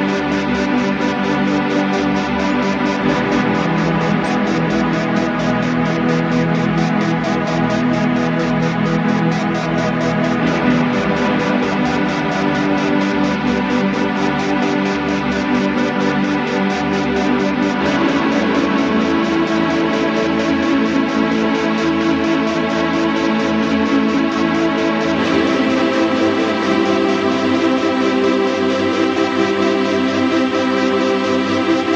0.0s drone 31.9s

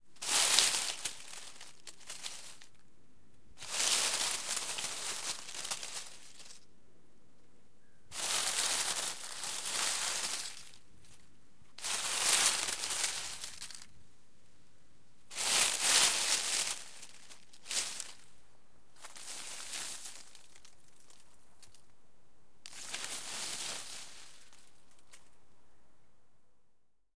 0.0s Movement of dry leaves bush 2.8s
3.6s Movement of dry leaves bush 6.7s
8.1s Movement of dry leaves bush 14.2s
15.2s Movement of dry leaves bush 21.9s
22.6s Movement of dry leaves bush 25.5s

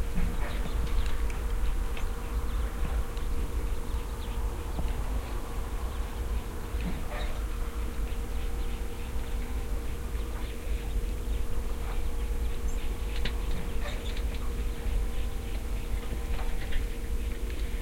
0.0s birds 17.8s

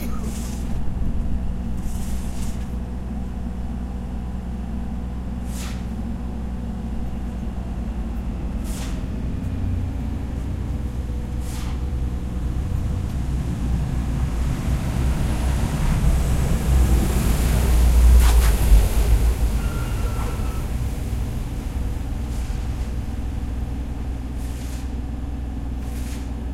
0.0s construction works 26.5s
7.0s traffic 25.3s

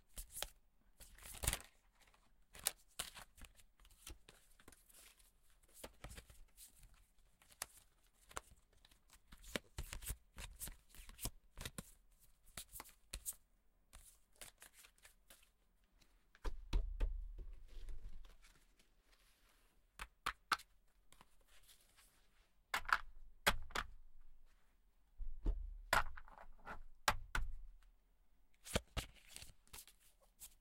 14.0s Cards being handled 15.5s

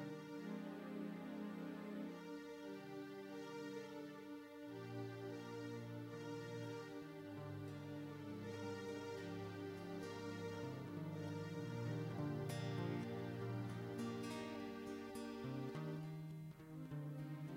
0.0s Orchestral 16.2s
0.0s guitar simple melody motif 17.5s
6.9s Chorus under guitar repeating melody 17.5s

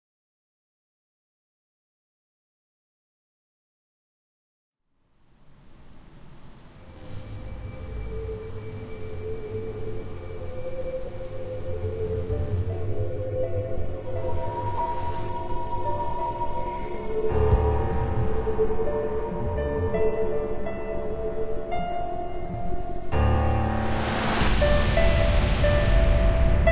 7.1s piano melody 26.7s

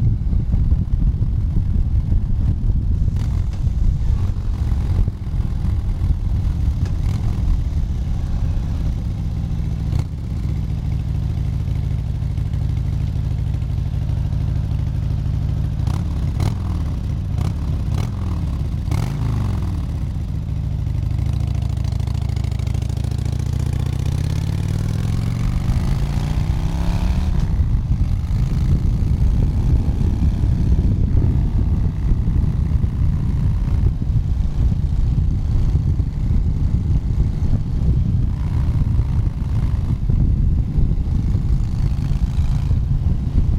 0.0s ride on a Harley Davidson motorcyle 43.5s

